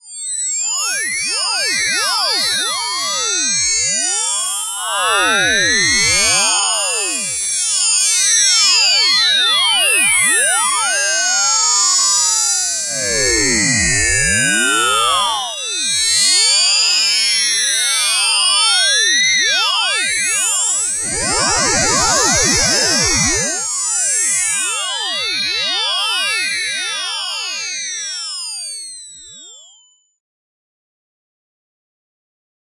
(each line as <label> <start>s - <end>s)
heterodyne whine of an old time radio tuner 8.8s - 23.8s